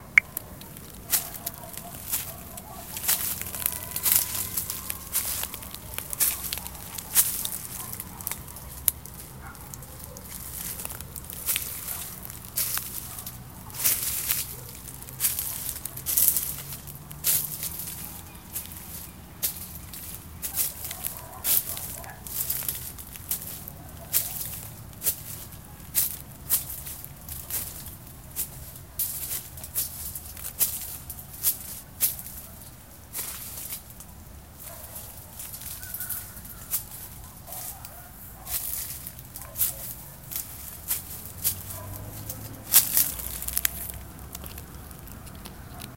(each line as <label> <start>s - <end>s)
Footsteps on leaves and gravels 0.0s - 45.9s